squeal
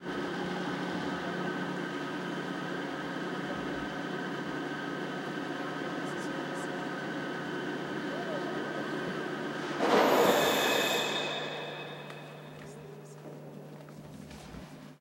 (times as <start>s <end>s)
9.9s 12.6s